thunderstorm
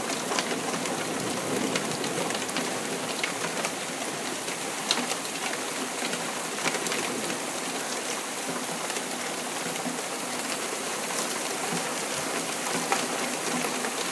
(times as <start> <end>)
0.4 3.4